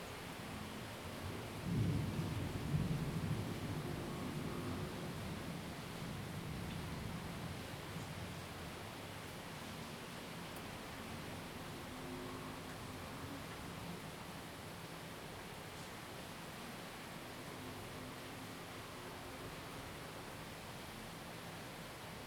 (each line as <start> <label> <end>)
0.0 rain 22.2
0.0 wind 22.2